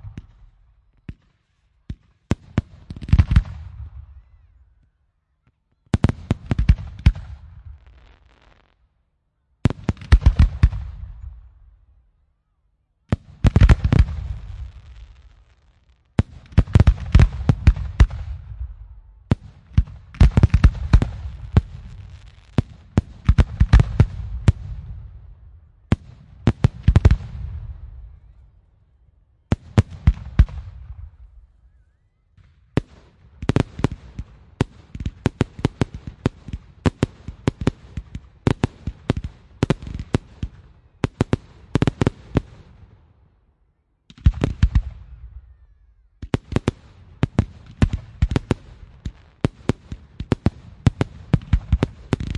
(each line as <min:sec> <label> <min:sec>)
0:13.1 rockets 0:25.3
0:46.2 rockets 0:52.3